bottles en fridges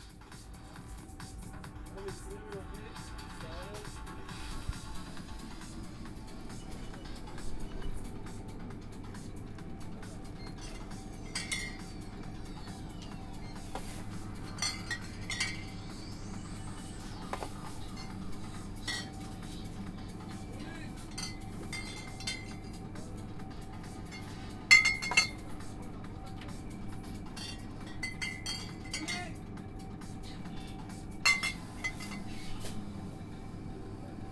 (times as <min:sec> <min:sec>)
0:06.4 0:29.6, 0:30.2 0:33.1